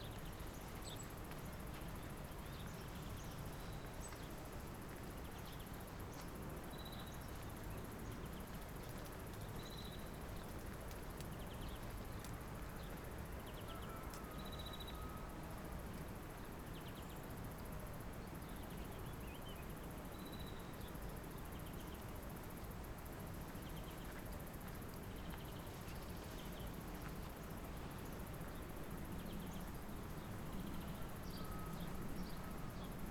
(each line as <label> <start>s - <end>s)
people walking through the field 24.0s - 31.2s